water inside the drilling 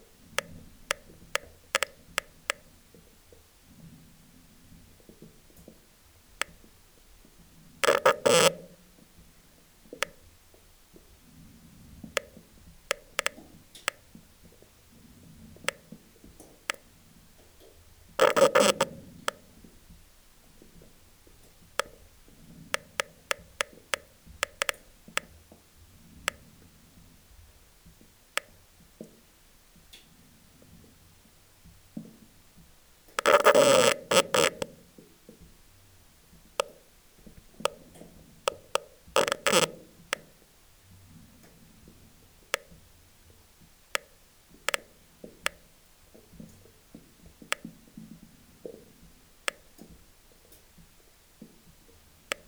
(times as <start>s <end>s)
7.8s 8.6s, 15.6s 19.4s, 33.2s 34.7s, 38.4s 40.2s